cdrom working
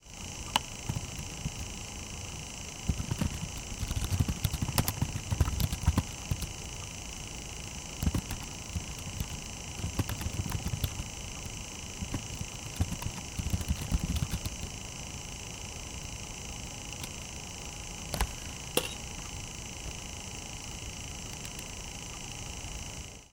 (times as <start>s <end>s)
0.2s 15.5s, 16.8s 19.0s, 21.0s 22.2s